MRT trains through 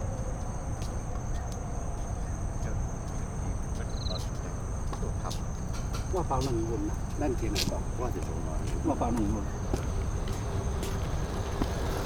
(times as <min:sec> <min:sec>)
0:05.8 0:12.0